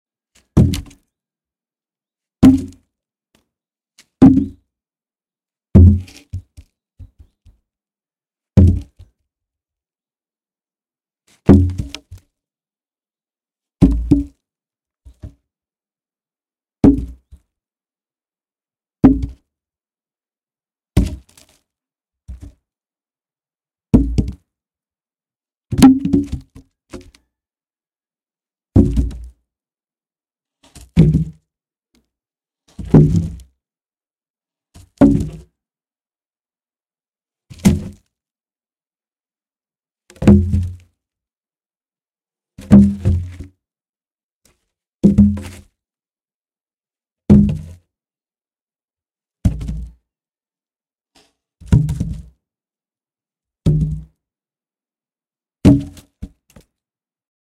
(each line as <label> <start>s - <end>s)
Throwing logs of wood on a small pile 0.4s - 1.2s
Throwing logs of wood on a small pile 2.4s - 2.8s
Throwing logs of wood on a small pile 5.8s - 7.6s
Throwing logs of wood on a small pile 8.6s - 9.2s
Throwing logs of wood on a small pile 11.3s - 12.3s
Throwing logs of wood on a small pile 15.0s - 15.4s
Throwing logs of wood on a small pile 21.0s - 21.7s
Throwing logs of wood on a small pile 22.3s - 22.6s
Throwing logs of wood on a small pile 25.7s - 27.2s
Throwing logs of wood on a small pile 28.8s - 29.4s
Throwing logs of wood on a small pile 30.6s - 31.4s
Throwing logs of wood on a small pile 32.7s - 33.5s
Throwing logs of wood on a small pile 37.5s - 38.1s
Throwing logs of wood on a small pile 40.2s - 40.9s
Throwing logs of wood on a small pile 49.4s - 49.9s
Throwing logs of wood on a small pile 51.2s - 52.3s